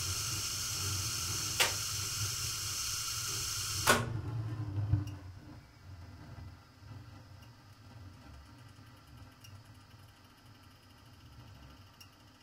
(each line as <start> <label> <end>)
0.0 gas ignition 4.2
0.0 gas boiler start stop 5.3
1.5 rotary switch connected to some relay 1.8
1.6 Some switches are heard when it's running 1.8
3.8 Some switches are heard when it's running 4.1